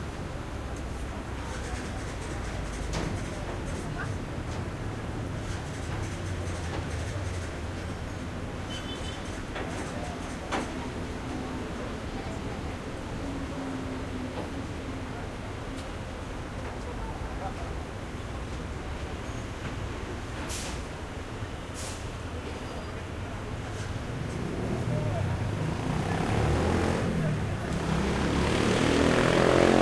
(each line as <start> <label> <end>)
0.0 traffic 29.8
1.1 people 7.9
21.8 people 29.8